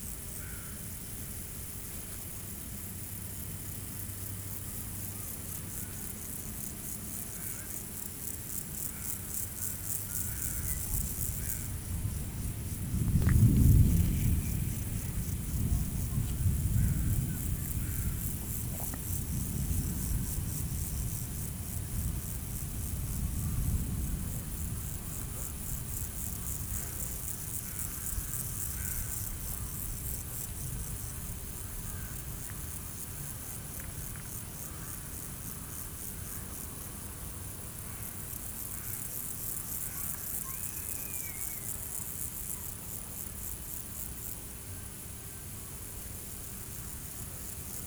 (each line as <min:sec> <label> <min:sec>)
0:10.6 violent storm is brewing on the horizon 0:31.5